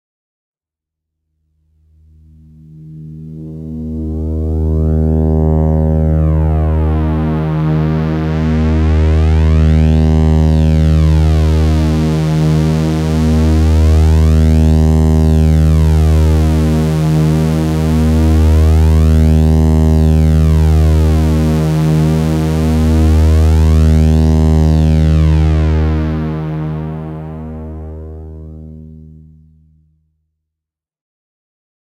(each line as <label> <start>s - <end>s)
drone 1.7s - 30.0s